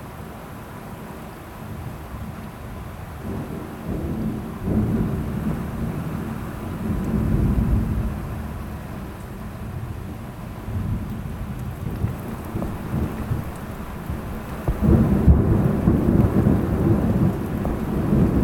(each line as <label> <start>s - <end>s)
severe thunderstorm 3.0s - 18.4s